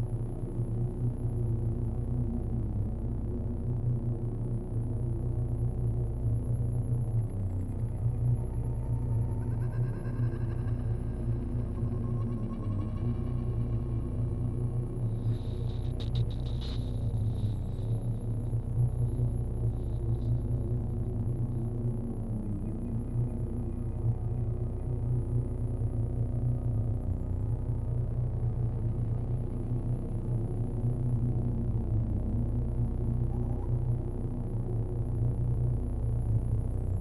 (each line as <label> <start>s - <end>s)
synth drone 5.2s - 37.0s